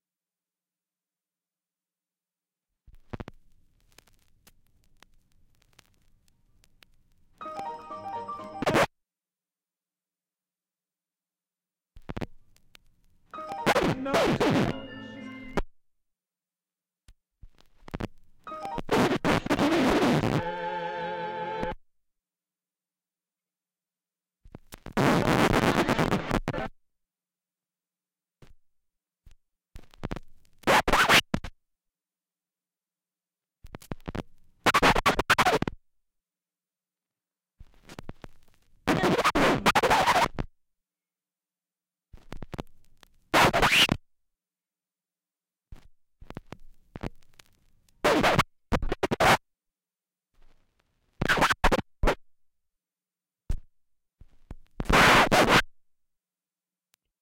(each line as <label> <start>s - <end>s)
record scratches 8.5s - 8.9s
record scratches 13.5s - 15.3s
record scratches 17.6s - 21.8s
record scratches 24.8s - 26.7s
record scratches 30.6s - 31.3s
record scratches 34.0s - 35.8s
record scratches 38.9s - 40.5s
record scratches 43.3s - 44.0s
record scratches 46.2s - 49.4s
record scratches 51.2s - 52.2s
record scratches 54.8s - 55.7s